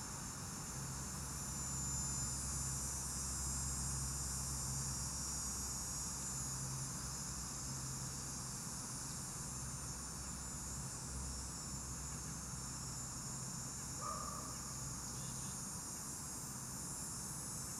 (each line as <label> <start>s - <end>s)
cicadas 0.0s - 17.7s